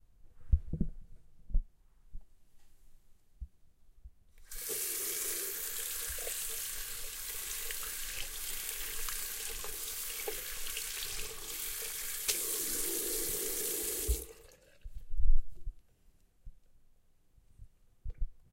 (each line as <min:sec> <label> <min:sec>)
0:04.5 Washing hands in the bathroom sink 0:14.9